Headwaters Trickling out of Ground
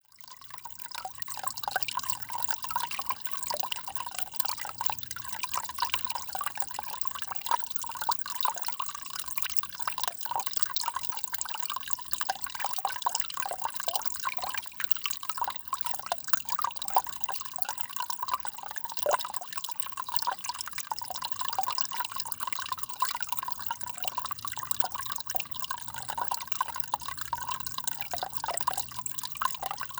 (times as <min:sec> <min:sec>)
0:15.0 0:29.9